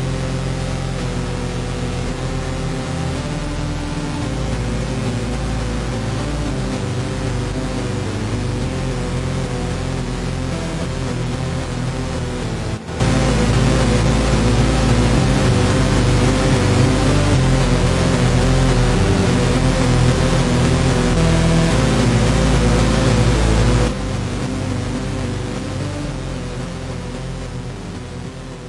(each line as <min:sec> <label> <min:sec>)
0:04.2 Beat 0:26.4